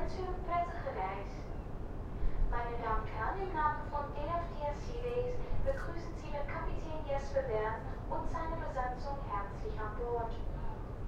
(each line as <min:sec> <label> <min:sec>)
0:00.0 ferry leaving the port 0:11.0